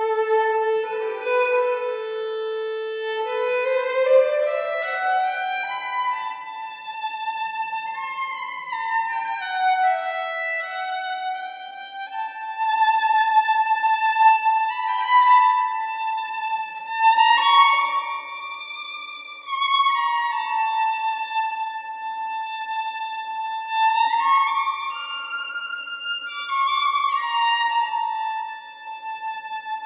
Violin 0:00.0 - 0:29.8

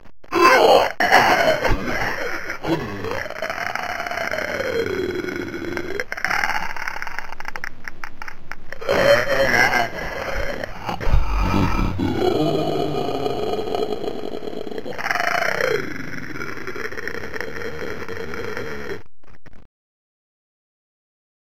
moan 0:00.3 - 0:07.4
moan 0:08.7 - 0:19.1

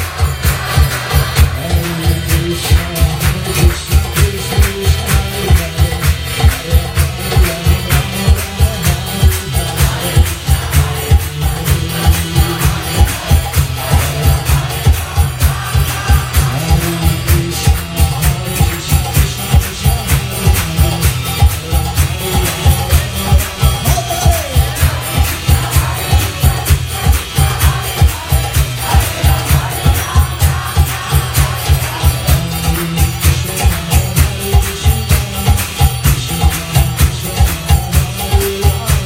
instruments 0:00.0 - 0:39.0
kirtan song 0:00.0 - 0:39.0

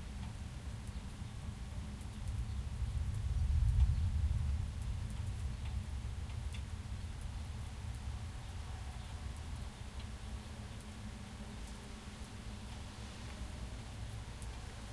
rain 0:00.0 - 0:14.9

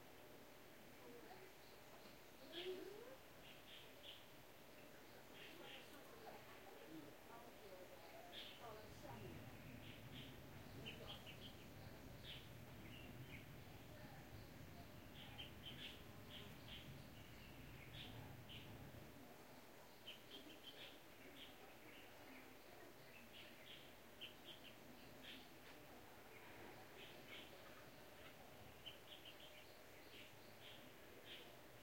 Birds 0:00.0 - 0:31.8

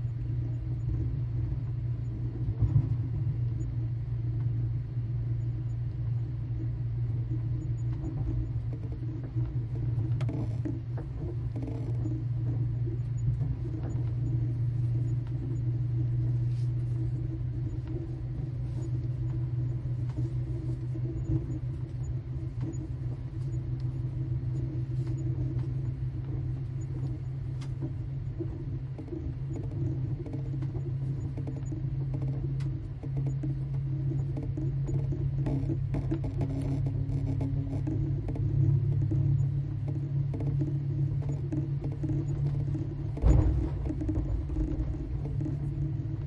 overnight train 0:00.0 - 0:29.6

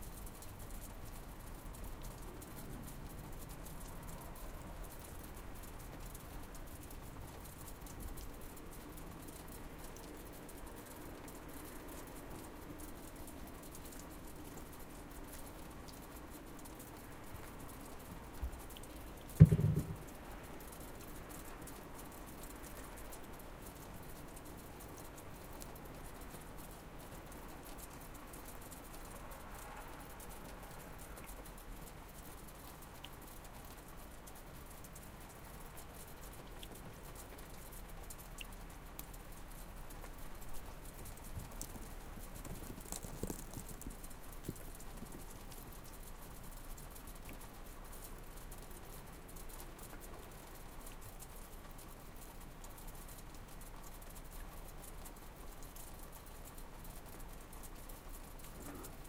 Water dripping from the roof 0:00.0 - 0:59.0
wet snowfall 0:40.1 - 0:46.0

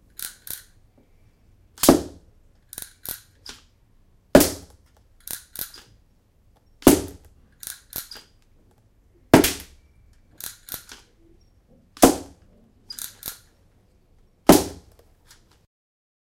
Recharging a riffle 0:07.5 - 0:08.4
Recharging a riffle 0:10.4 - 0:11.1

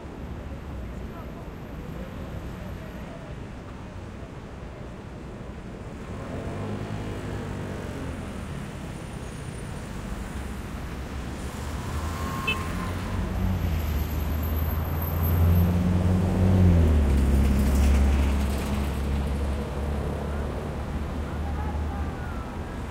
traffic 0:00.0 - 0:22.9

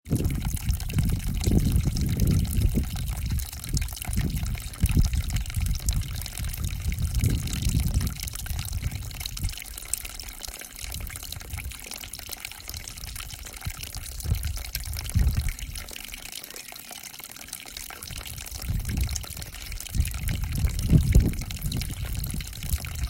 Water trickle 0:00.1 - 0:23.0

